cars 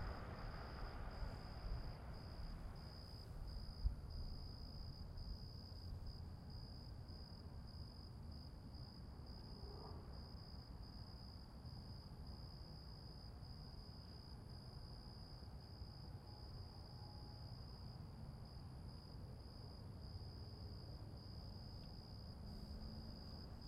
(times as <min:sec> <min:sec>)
0:00.0 0:03.7